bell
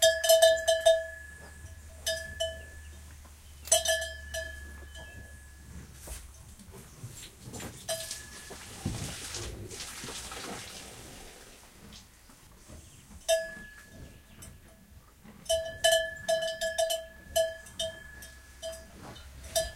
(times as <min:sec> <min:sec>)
0:00.0 0:03.1, 0:03.7 0:06.0, 0:07.9 0:08.8, 0:13.3 0:14.7, 0:15.5 0:19.7